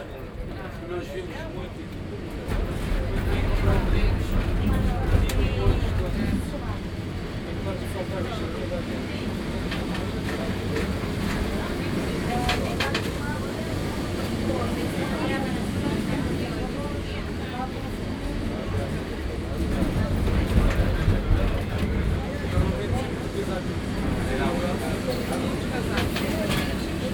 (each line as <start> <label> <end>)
0.0 tram electrico nr.28 while driving through the city 27.1